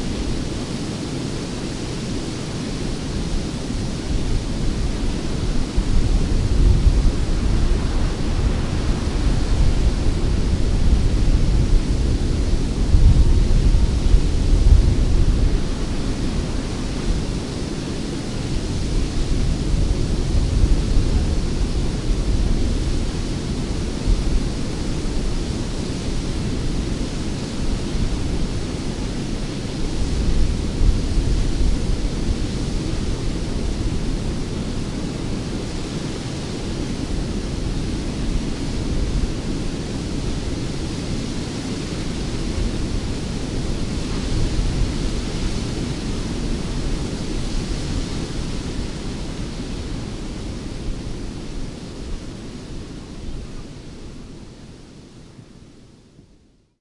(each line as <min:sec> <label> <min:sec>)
0:00.0 wind 0:56.8
0:00.0 waterfall falling into the see from high cliffs 0:56.8